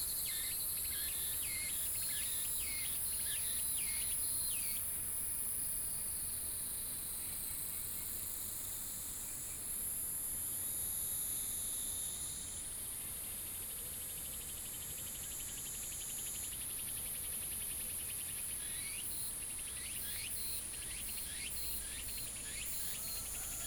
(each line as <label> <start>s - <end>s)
Bird calls 22.6s - 23.6s